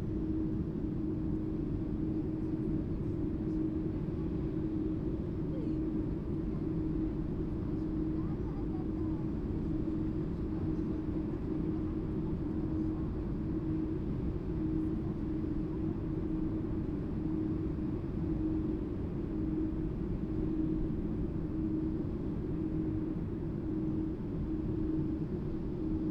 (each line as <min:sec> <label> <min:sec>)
0:00.0 air conditioning system of the underground supermarket 0:26.1